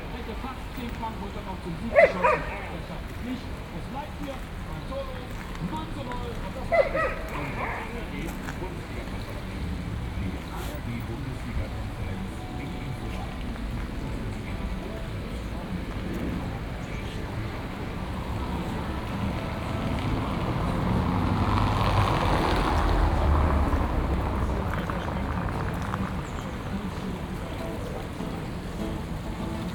street sounds 0:00.0 - 0:29.7

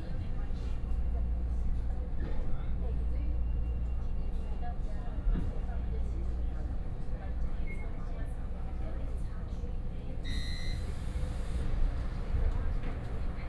Local Train 0:00.0 - 0:13.4

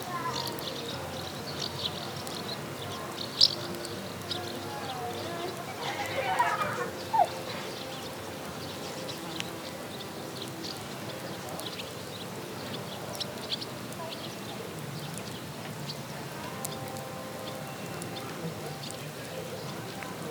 pájaros 0:00.1 - 0:13.8
niños jugando 0:05.4 - 0:07.8

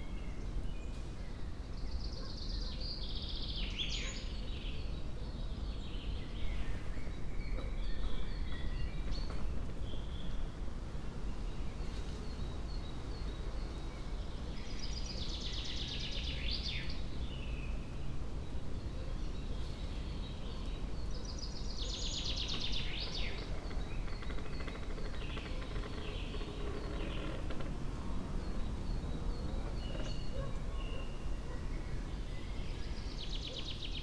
winds 0:00.0 - 0:34.0
birds 0:11.3 - 0:34.0
creaking tree 0:22.3 - 0:28.4
creaking tree 0:29.3 - 0:30.4

